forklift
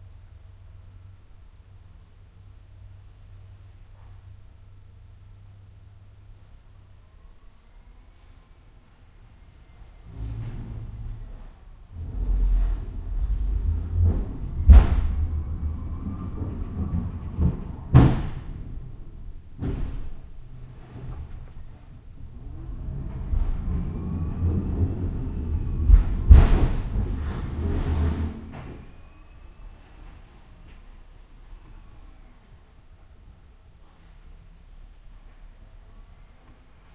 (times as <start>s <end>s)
9.8s 29.7s